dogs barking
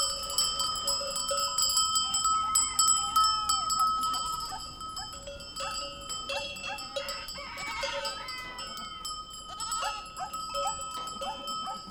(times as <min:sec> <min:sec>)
0:04.4 0:08.0, 0:09.5 0:11.9